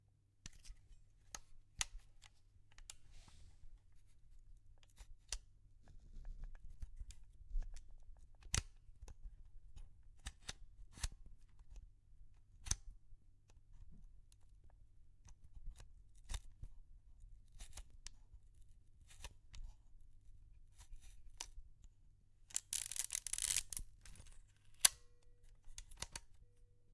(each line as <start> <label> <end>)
22.5 Old SLR film camera handling sounds 25.0
22.6 shutter 23.8